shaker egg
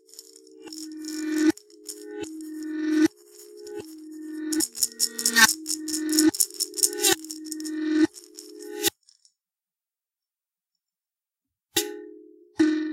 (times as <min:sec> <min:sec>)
0:00.0 0:09.2